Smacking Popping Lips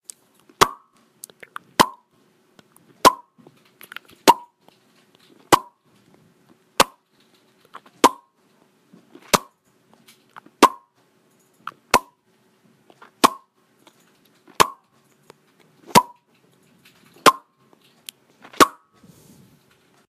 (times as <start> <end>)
0.1 2.0